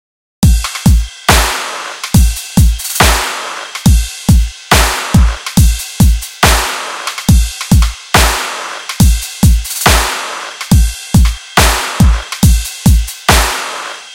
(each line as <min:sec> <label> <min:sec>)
0:00.4 Cymbals 0:14.1